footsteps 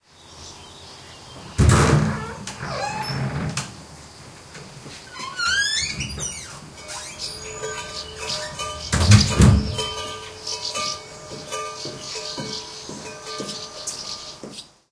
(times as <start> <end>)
4.6 14.7